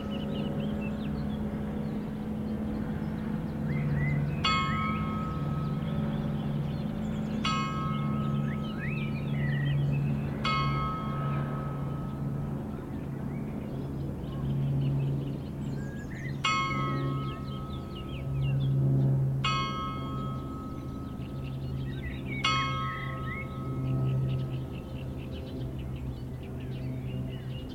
sonnerie du clocher de la chapelle 0.0 - 27.7

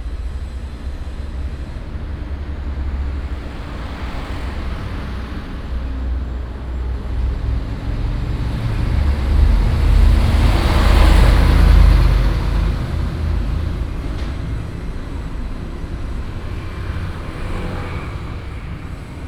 Traffic sound 0.0 - 19.2

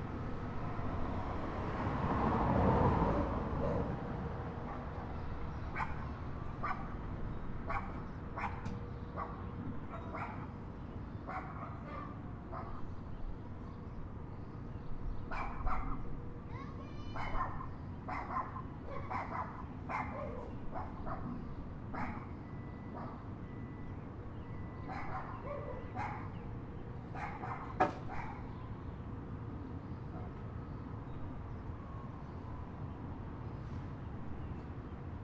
dogs 3.0 - 7.0
dogs 7.6 - 10.6
dogs 11.2 - 12.9
dogs 15.3 - 16.2
dogs 17.1 - 23.3
dogs 24.8 - 26.4
dogs 27.1 - 28.6
dogs 30.1 - 30.4

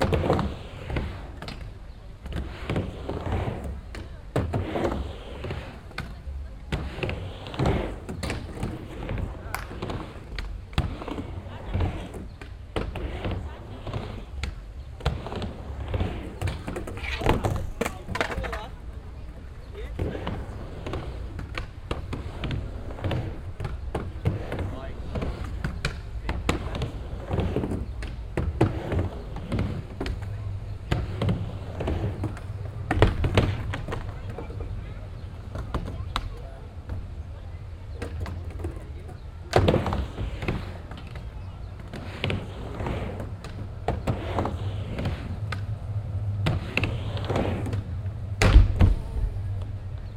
skatebord 0.0 - 50.1

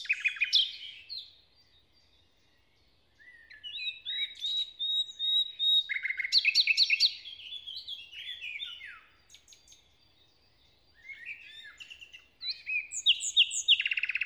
nightingale performs a kind of morning song 0.0 - 14.2

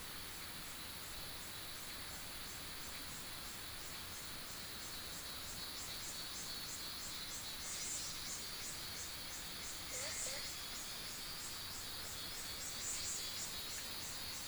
Cicadas cry 7.8 - 14.4
Bird sounds 9.8 - 10.7
Frog sounds 9.9 - 10.7

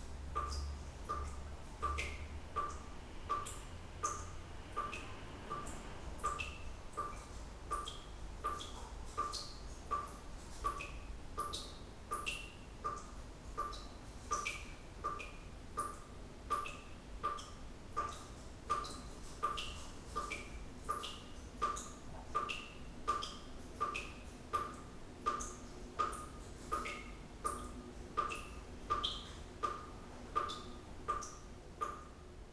dripping tap 0.4 - 32.1

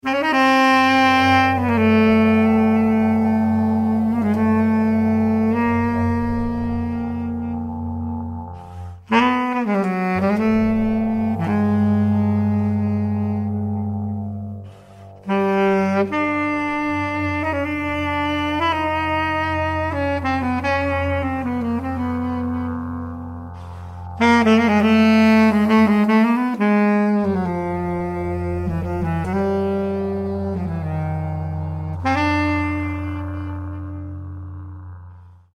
sax 0.0 - 35.5

